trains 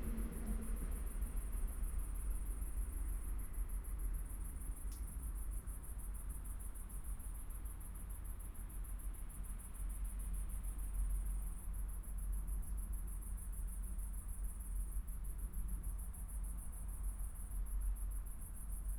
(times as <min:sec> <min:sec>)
0:00.0 0:01.9